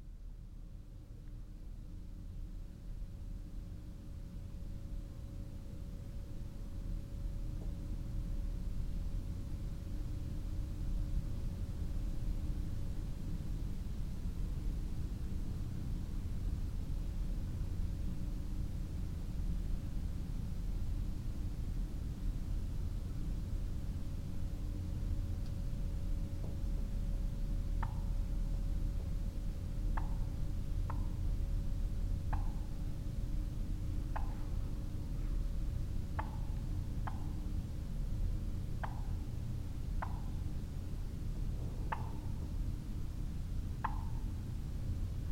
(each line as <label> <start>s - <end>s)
barred owl hoots from a nearby tree 41.8s - 42.4s